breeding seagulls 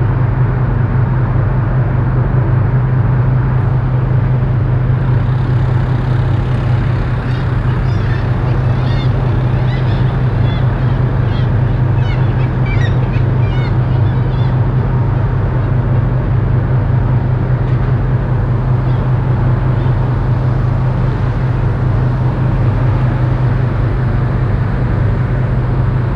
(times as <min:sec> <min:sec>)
0:03.7 0:15.8, 0:17.8 0:25.5